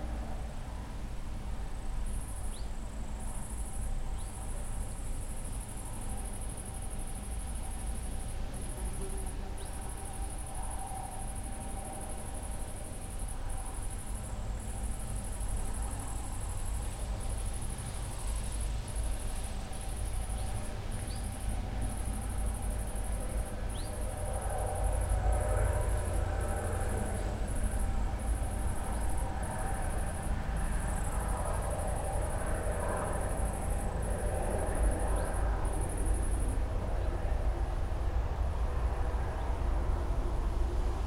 echoes of traffic 0:00.0 - 0:41.0
winds 0:00.0 - 0:41.0

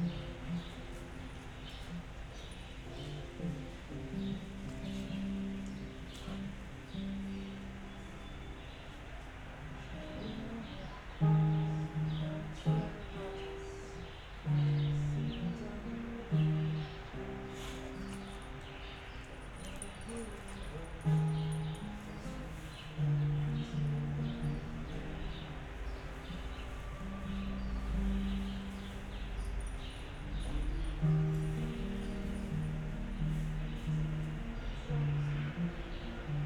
musician is practising 0:09.5 - 0:36.4

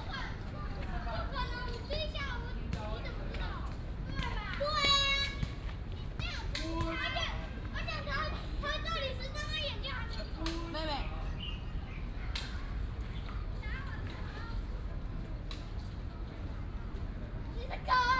Many elderly and children 0:00.0 - 0:08.7

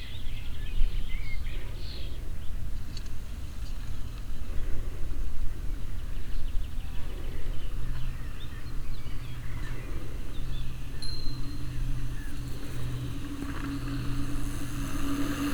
three bikers swooshing by 0:10.7 - 0:15.5

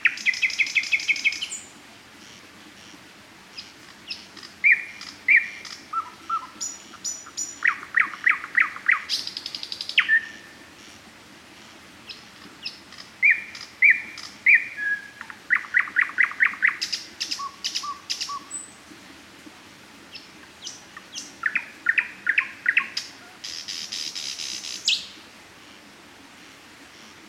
jubilant nightingale 0:00.0 - 0:02.4
jubilant nightingale 0:03.6 - 0:10.9
jubilant nightingale 0:12.1 - 0:18.8
jubilant nightingale 0:20.1 - 0:25.2

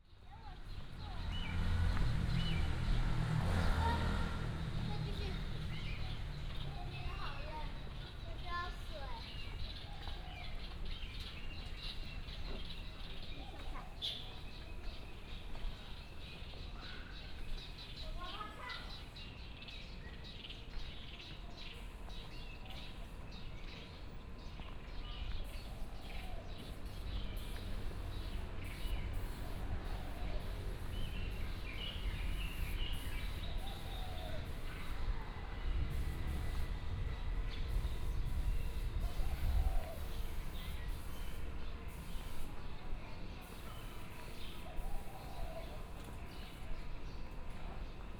Walking through the park 0:00.0 - 0:48.1
traffic sound 0:00.1 - 0:48.1
Child 0:03.6 - 0:05.7
birds 0:05.1 - 0:48.1
Child 0:06.7 - 0:09.4

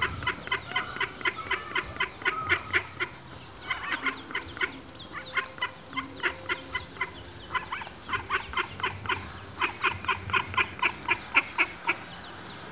ducklings 0:00.0 - 0:12.2

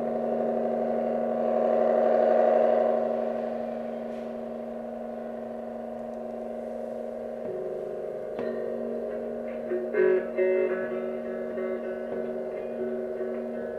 chitarra elettrica 0:00.0 - 0:13.7
moto 0:00.0 - 0:13.7

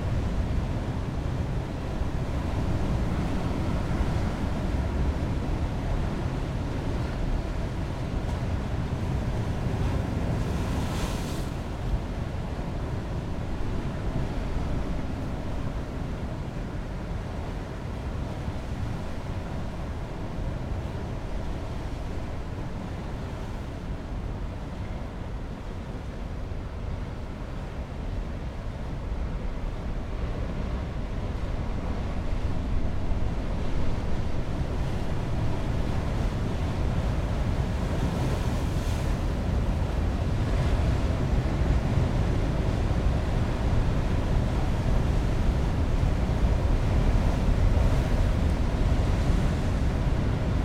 Heavy waves and Sea - distant rumble 0:00.0 - 0:50.6

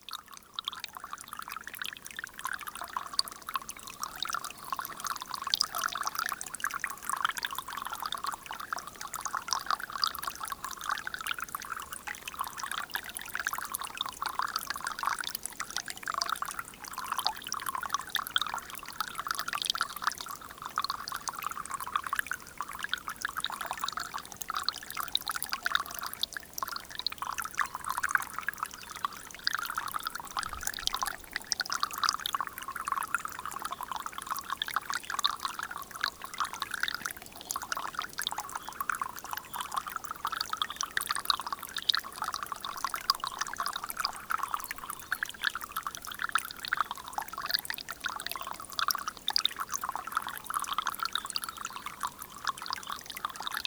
small stream is hurtling 0:00.0 - 0:53.6

